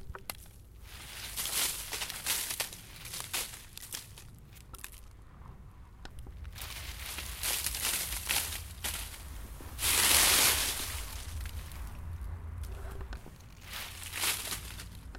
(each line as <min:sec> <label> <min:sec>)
0:00.4 footsteps in snow and dryleaves 0:05.1
0:06.3 footsteps in snow and dryleaves 0:15.1